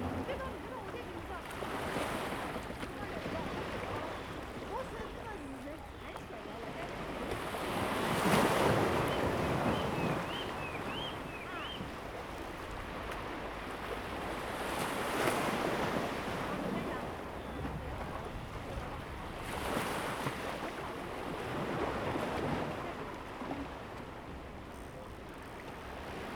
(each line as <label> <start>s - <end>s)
Waves 0.0s - 26.3s
Birdsong sound 8.9s - 11.9s